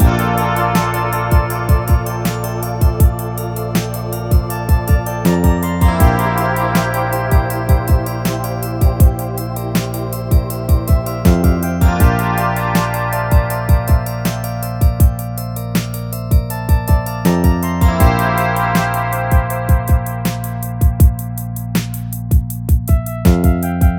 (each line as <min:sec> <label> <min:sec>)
0:00.0 Rap Instrumental 0:15.2
0:00.0 beat 0:23.9